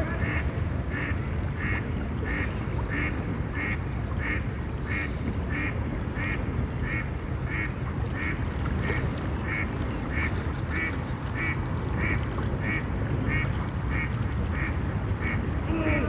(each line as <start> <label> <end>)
0.0 Voices of children echoing over the water surface 4.0
15.2 Voices of children echoing over the water surface 16.0